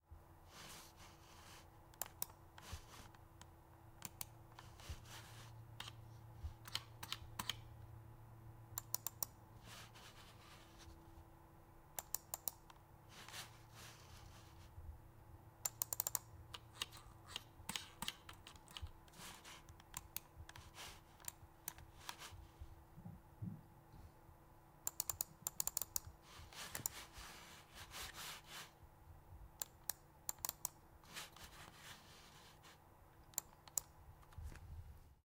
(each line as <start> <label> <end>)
2.0 PC Mouse Clicks 2.4
6.6 PC Mouse Clicks 7.6
8.8 PC Mouse Clicks 9.4
15.6 PC Mouse Clicks 19.0
24.9 PC Mouse Clicks 26.1
29.6 PC Mouse Clicks 30.8
33.3 PC Mouse Clicks 33.9